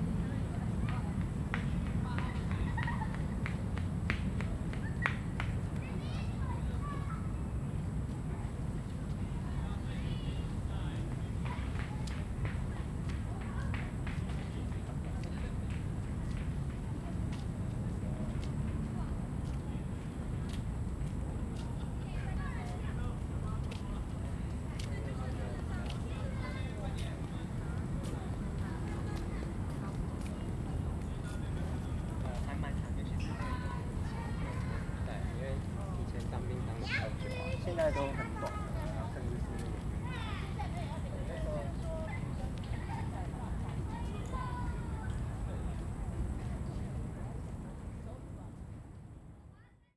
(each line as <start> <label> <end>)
0.0 Traffic noise 49.3